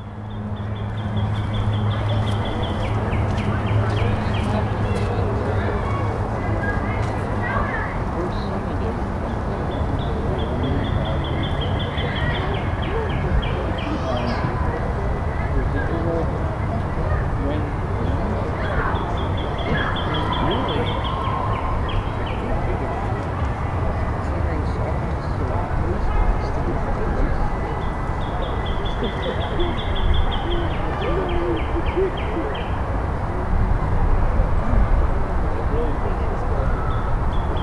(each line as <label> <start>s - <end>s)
people shuffling along the path 1.0s - 7.9s